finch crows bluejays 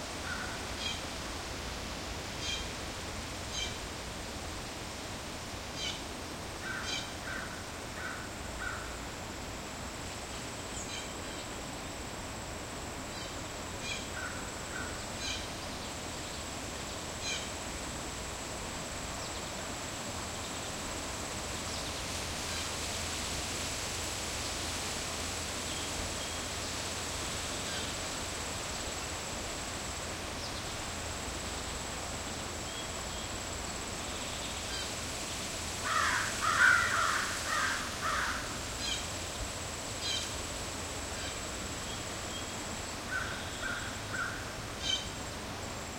35.8 39.1

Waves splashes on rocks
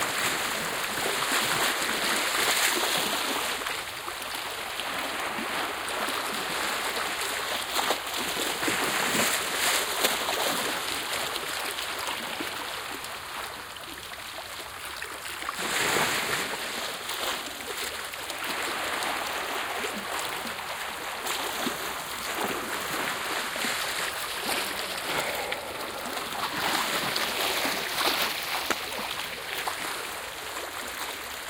4.8 11.9, 15.5 31.4

